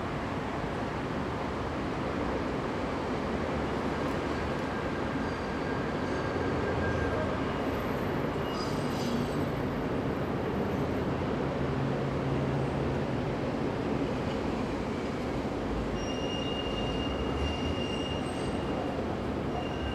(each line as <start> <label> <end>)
0.0 boats 19.9
0.0 elevated train 19.9
0.1 trams (with their squeaking wheels) 19.9